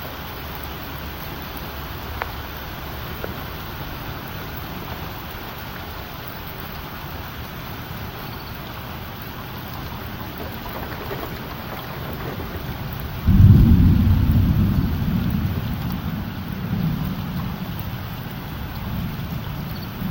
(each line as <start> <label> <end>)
0.0 rain 20.1
9.8 thunder 20.1